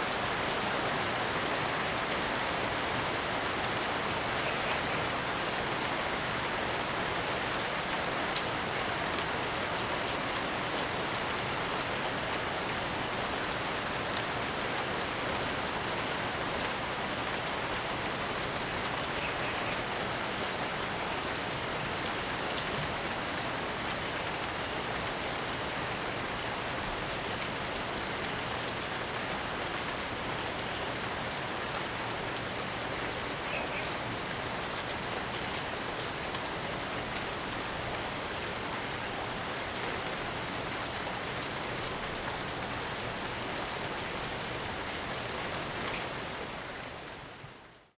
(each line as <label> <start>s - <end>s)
Heavy rain 0.0s - 47.8s